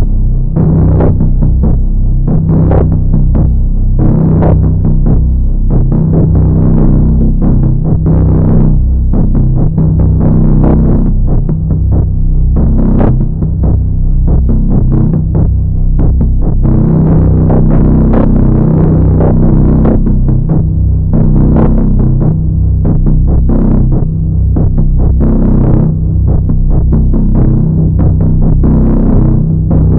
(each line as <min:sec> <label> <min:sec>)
0:00.0 drone 0:29.9